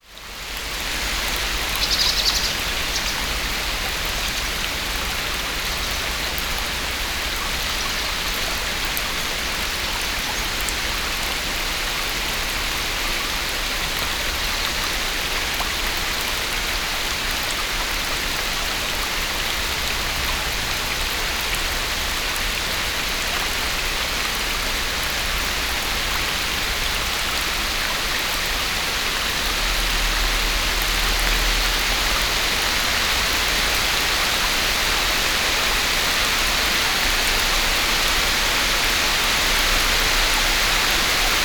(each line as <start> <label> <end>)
0.0 brook 41.4
0.0 strong rain 41.4